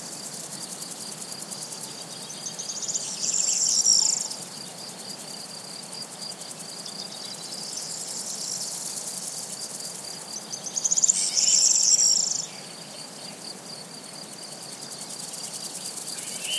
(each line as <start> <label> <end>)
0.0 crickets 16.5
0.0 soft murmur of wind on trees 16.5
1.7 singing birds 4.9
10.3 singing birds 13.5
15.4 singing birds 16.5